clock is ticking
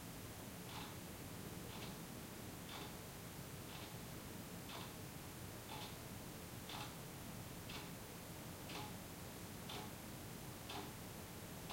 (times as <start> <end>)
0.7 1.0, 1.7 2.0, 2.7 3.0, 3.7 4.0, 4.7 5.0, 5.7 6.0, 6.7 7.0, 7.6 8.0, 8.6 9.0, 9.7 10.0, 10.7 11.0